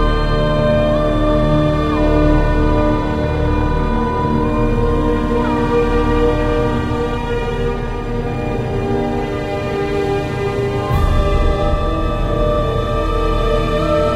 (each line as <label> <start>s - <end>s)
choir 0.0s - 14.1s
flute 0.0s - 14.1s